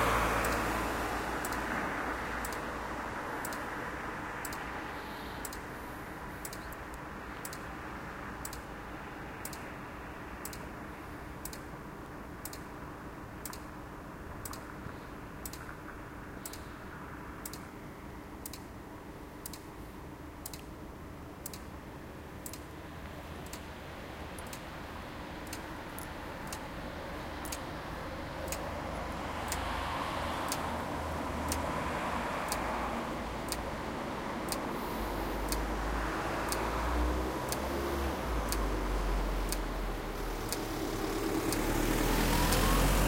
0.0s single cars 5.7s
0.0s pedestrian traffic-light 43.0s
22.4s single cars 43.0s

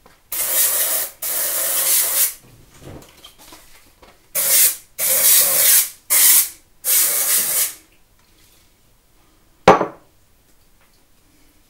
0.3s Spray on deodorant 2.4s
4.4s Spray on deodorant 7.8s

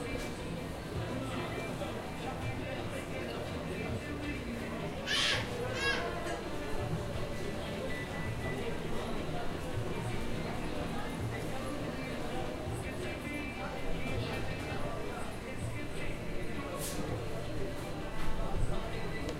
0.0s people 19.3s

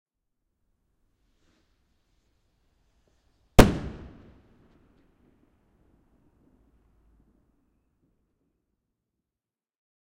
3.6s single firework 5.4s

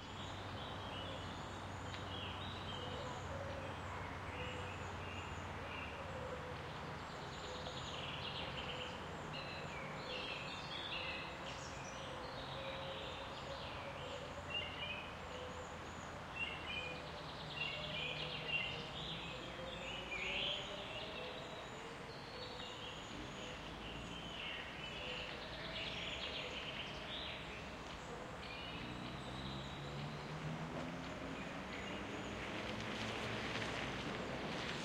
0.0s birds 34.8s

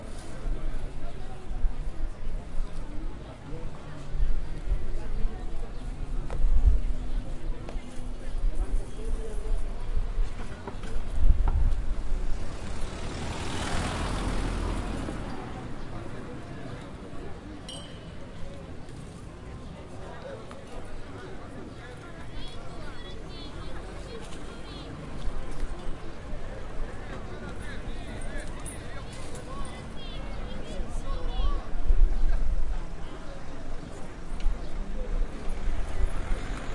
0.0s people 36.7s
0.0s traffic noise 36.7s

